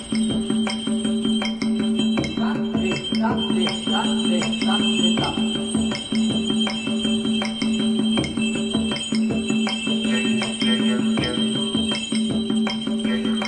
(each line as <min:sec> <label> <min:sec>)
0:00.0 bells 0:13.4